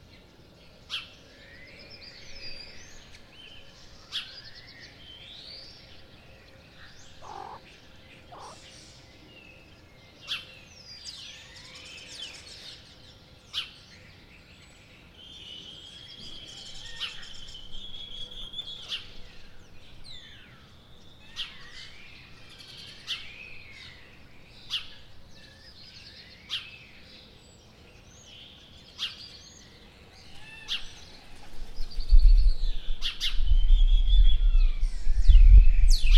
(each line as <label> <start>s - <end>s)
aleteo de un pájaro pasando cerca 8.3s - 8.6s